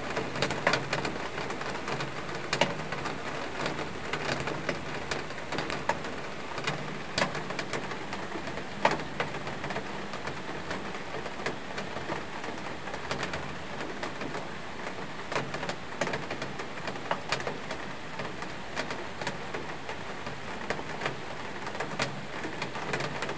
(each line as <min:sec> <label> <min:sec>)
0:00.0 Heavy Rain 0:23.3